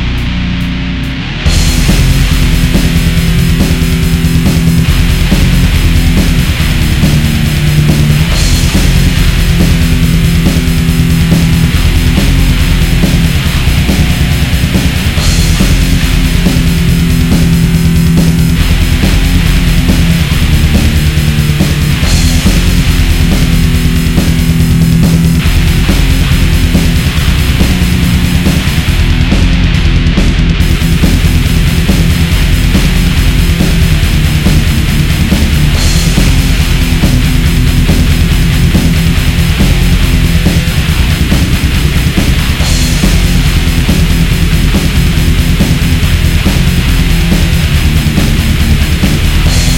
death metal track 0:00.0 - 0:49.7

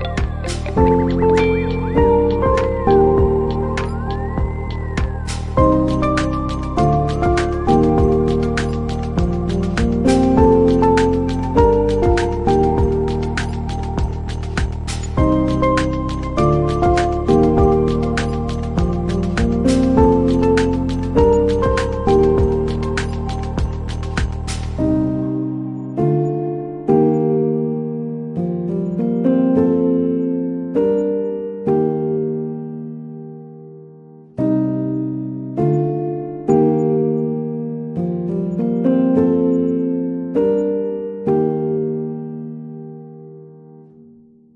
synth 0:00.0 - 0:28.0
lo-fi piano 0:00.0 - 0:44.5

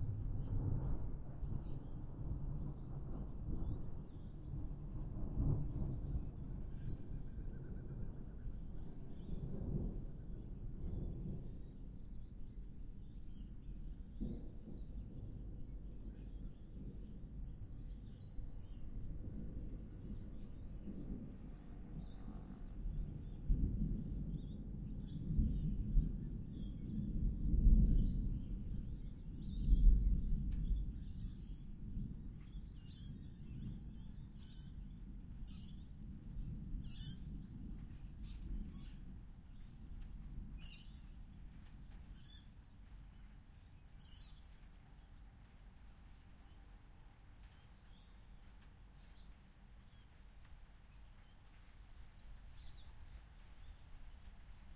thunder 0:00.0 - 0:12.6
rain 0:00.0 - 0:54.7
thunder 0:13.3 - 0:42.4

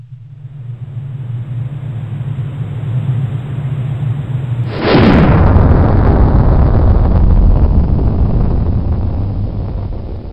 shock wave approaching at high speed 0:04.6 - 0:10.3

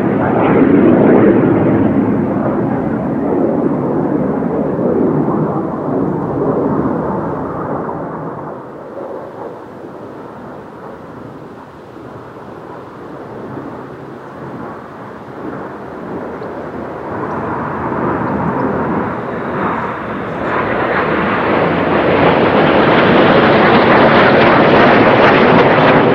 Jet Flyovers 0:00.0 - 0:26.1

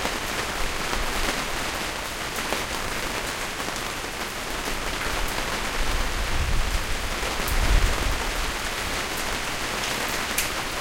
Sharp rain sound on canvas awning 0:00.0 - 0:10.8
low rumbles from wind flapping the canvas 0:05.2 - 0:09.1

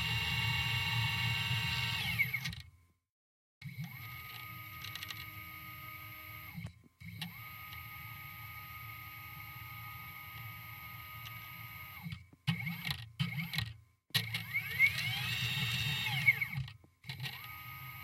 3d cutter 0:00.0 - 0:02.6
3d cutter 0:14.2 - 0:16.6

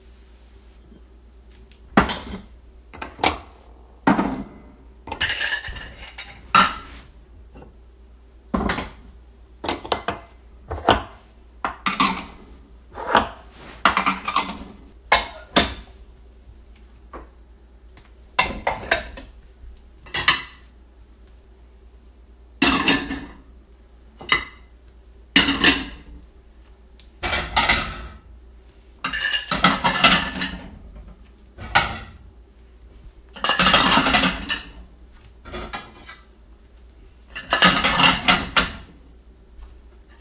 dishes being put away 0:01.9 - 0:06.9
dishes being put away 0:09.6 - 0:12.4
dishes being put away 0:13.0 - 0:15.9
dishes being put away 0:22.6 - 0:23.4
dishes being put away 0:25.4 - 0:26.1
dishes being put away 0:27.2 - 0:28.2
dishes being put away 0:29.0 - 0:32.2
dishes being put away 0:33.4 - 0:36.3
dishes being put away 0:37.3 - 0:38.9

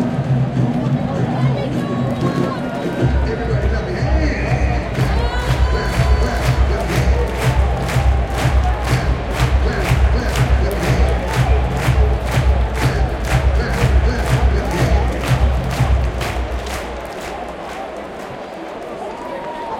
intermission music 0:00.0 - 0:17.1
general crowd sounds 0:00.0 - 0:19.7
Cheers 0:04.4 - 0:19.7

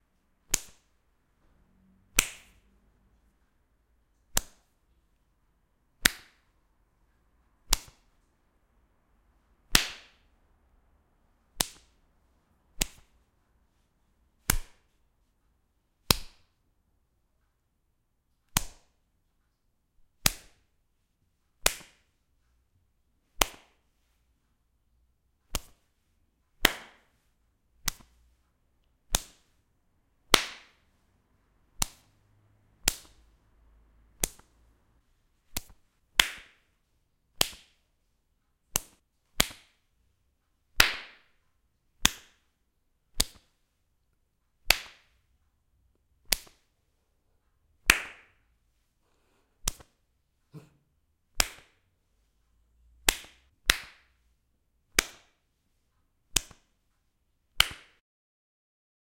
Slapping Face 0:00.4 - 0:01.0
Slapping Face 0:02.1 - 0:02.7
Slapping Face 0:04.2 - 0:04.8
Slapping Face 0:06.0 - 0:06.5
Slapping Face 0:07.6 - 0:08.2
Slapping Face 0:09.7 - 0:10.3
Slapping Face 0:11.5 - 0:12.0
Slapping Face 0:12.7 - 0:13.2
Slapping Face 0:14.4 - 0:15.0
Slapping Face 0:16.0 - 0:16.6
Slapping Face 0:18.5 - 0:19.0
Slapping Face 0:20.2 - 0:20.7
Slapping Face 0:21.6 - 0:22.2
Slapping Face 0:23.3 - 0:23.9
Slapping Face 0:25.4 - 0:25.9
Slapping Face 0:26.6 - 0:28.2
Slapping Face 0:29.0 - 0:29.6
Slapping Face 0:30.3 - 0:31.0
Slapping Face 0:31.7 - 0:32.1
Slapping Face 0:32.8 - 0:33.4
Slapping Face 0:34.2 - 0:34.6
Slapping Face 0:35.4 - 0:36.7
Slapping Face 0:37.3 - 0:37.8
Slapping Face 0:38.6 - 0:39.9
Slapping Face 0:40.7 - 0:41.4
Slapping Face 0:42.0 - 0:42.5
Slapping Face 0:43.1 - 0:43.6
Slapping Face 0:44.6 - 0:45.2
Slapping Face 0:46.2 - 0:46.7
Slapping Face 0:47.8 - 0:48.4
Slapping Face 0:49.2 - 0:51.9
Slapping Face 0:53.0 - 0:54.2
Slapping Face 0:54.9 - 0:55.4
Slapping Face 0:56.3 - 0:56.7
Slapping Face 0:57.5 - 0:58.0

